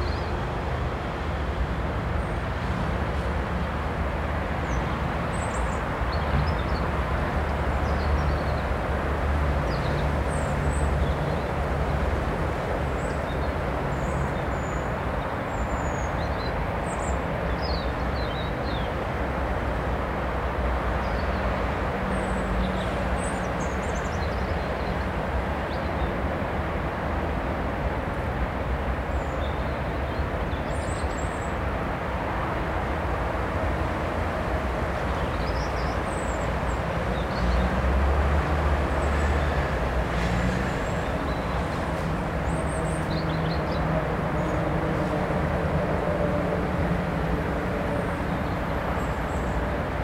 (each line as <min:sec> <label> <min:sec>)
0:00.0 highway 0:50.0
0:00.0 metro 0:50.0
0:00.0 river 0:50.0
0:00.0 wind in trees 0:50.0
0:36.1 truck 0:50.0